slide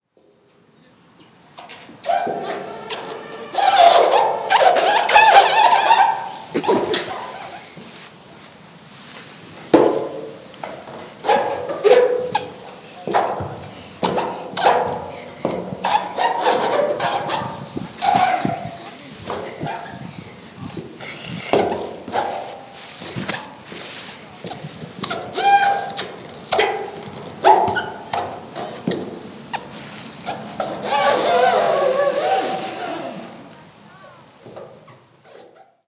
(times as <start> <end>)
1.7 7.8, 29.4 33.6